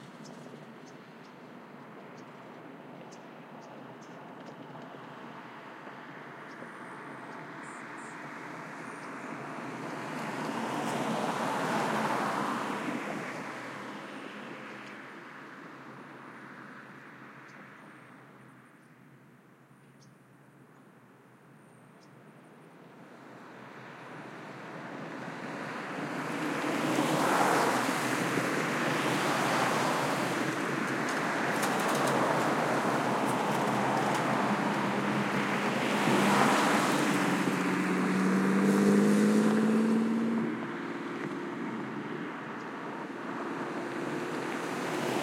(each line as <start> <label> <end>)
0.0 Cars Passing Highway 18.7
22.6 Cars Passing Highway 45.2